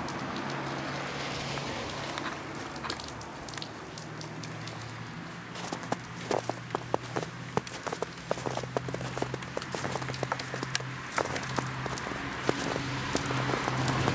Walking On Snow 4.6 - 14.1

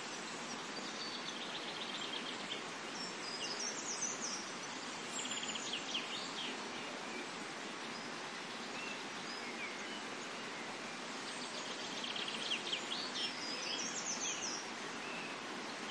birds singing 0.0 - 15.9
noise of a nearby water stream 0.0 - 15.9

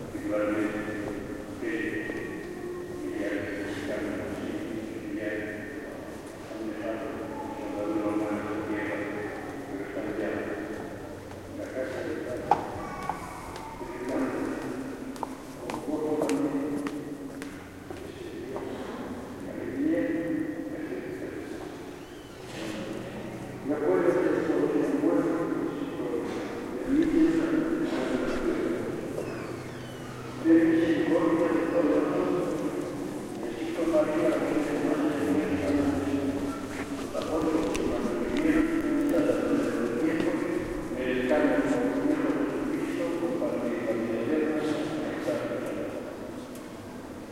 murmur of praying 0.0 - 47.3
reverberant steps 0.0 - 47.3
squeaky door that tourists open /close again and again 22.0 - 22.7
squeaky door that tourists open /close again and again 29.2 - 30.4

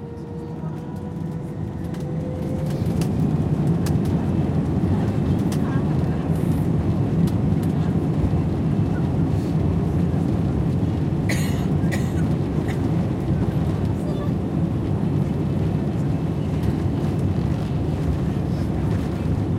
plane on takeoff 0.0 - 19.5

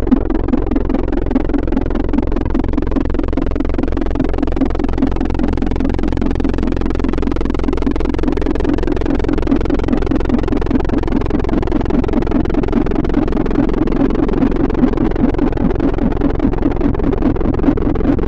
drone 0.0 - 18.2

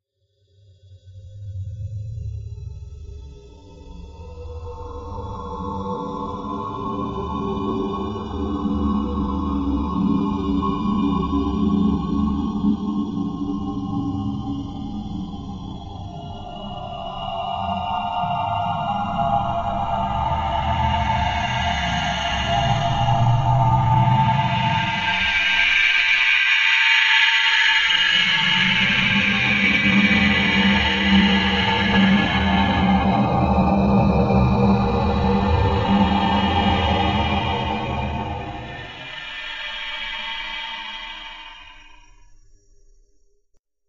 alien type sounds 16.2 - 42.0

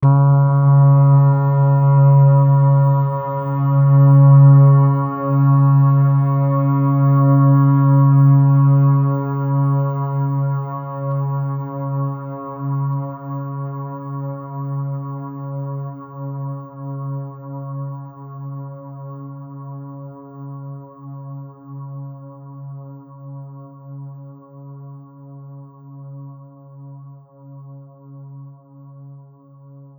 Synth ambient pad 0.0 - 20.3

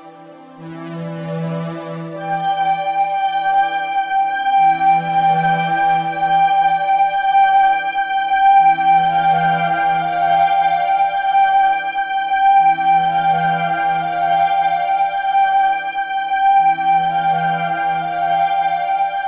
synth 0.0 - 19.2

